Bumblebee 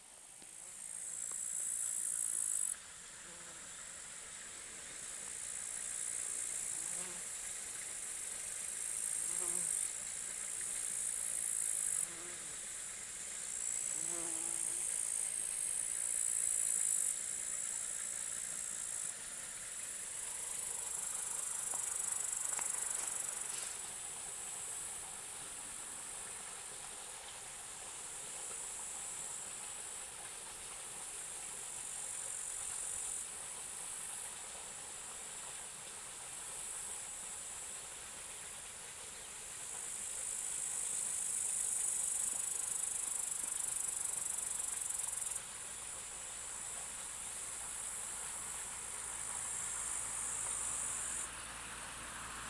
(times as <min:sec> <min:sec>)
0:06.6 0:07.3, 0:09.1 0:09.9, 0:11.5 0:12.6, 0:13.6 0:15.1